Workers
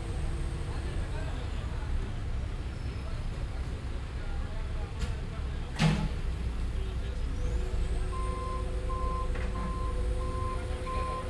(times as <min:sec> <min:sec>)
0:02.9 0:11.2